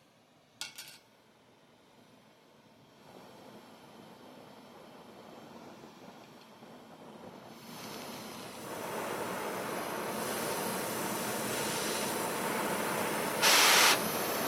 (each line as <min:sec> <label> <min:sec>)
0:07.5 torch being lit 0:14.4